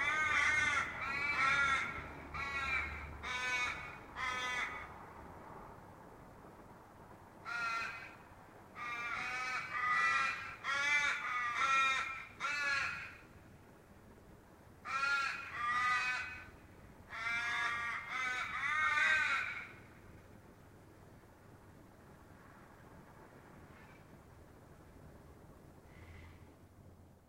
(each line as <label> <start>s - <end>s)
Australian Ravens defending their territory 0.0s - 5.0s